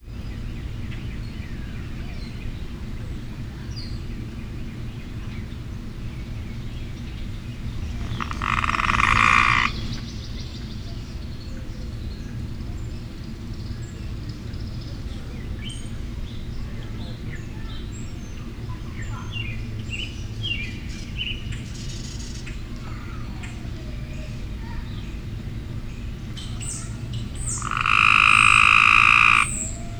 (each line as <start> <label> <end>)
7.4 Tree Frog 10.4
26.8 Tree Frog 29.9